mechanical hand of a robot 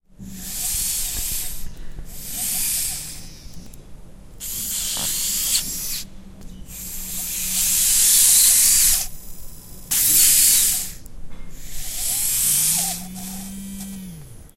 0:04.4 0:06.1, 0:06.7 0:11.0, 0:11.6 0:14.4

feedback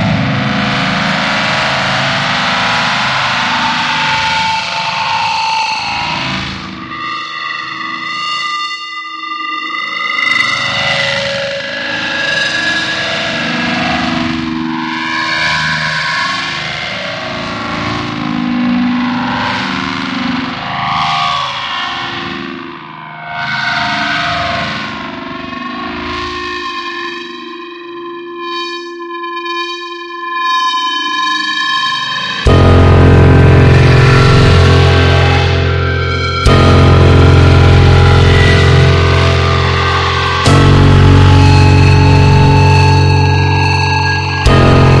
0:32.5 0:45.0

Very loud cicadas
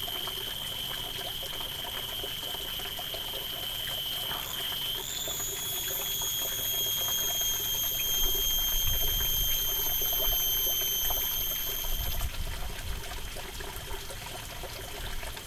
0:00.0 0:12.2

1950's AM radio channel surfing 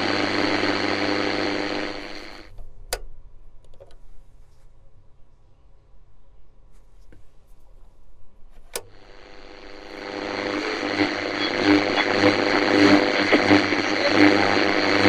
0:00.0 0:02.5, 0:08.7 0:15.0

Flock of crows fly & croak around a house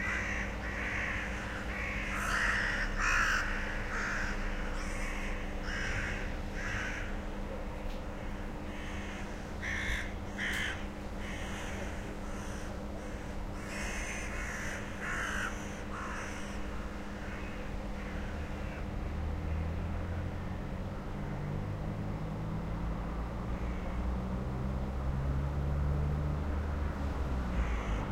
0:00.0 0:18.9, 0:23.5 0:24.0, 0:27.5 0:28.1

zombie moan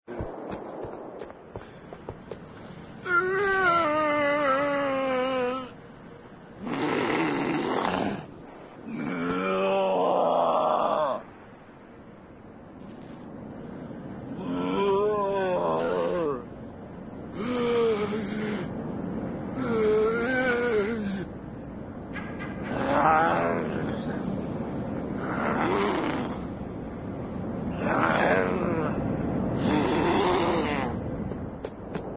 0:14.4 0:16.5

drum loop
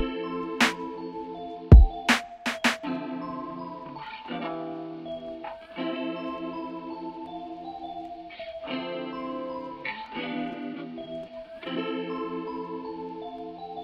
0:00.0 0:00.8, 0:01.7 0:02.8

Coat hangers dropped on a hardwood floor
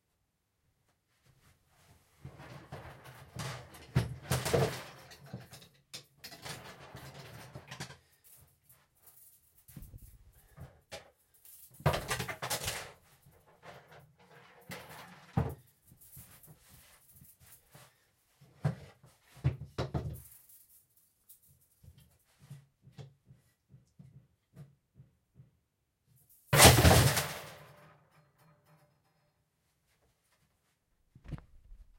0:03.4 0:08.4, 0:09.1 0:13.0, 0:26.5 0:28.8

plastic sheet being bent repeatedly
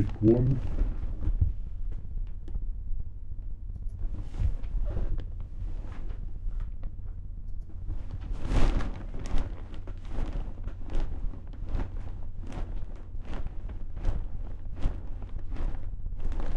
0:07.8 0:16.5

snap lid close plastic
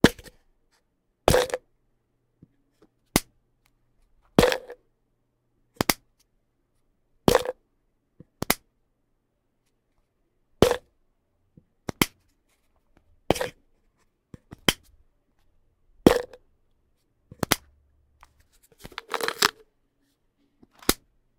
0:18.8 0:19.6, 0:20.8 0:21.0

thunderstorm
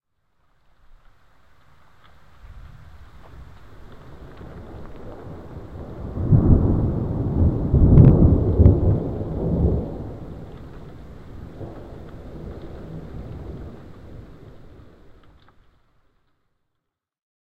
0:02.2 0:15.2

